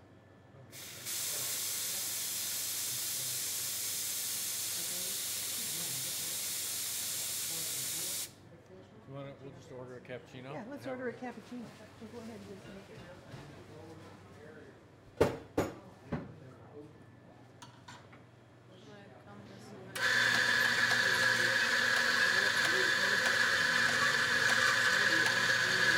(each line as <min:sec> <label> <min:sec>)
0:00.8 barista making a cappuccino 0:08.3
0:19.9 barista making a cappuccino 0:25.9